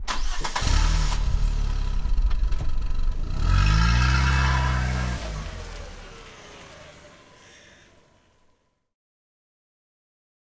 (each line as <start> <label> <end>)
0.0 Car Engine Starting 8.6